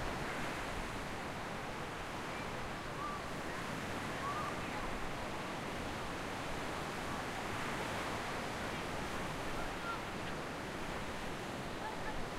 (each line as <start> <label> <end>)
0.0 waves on the sand 12.3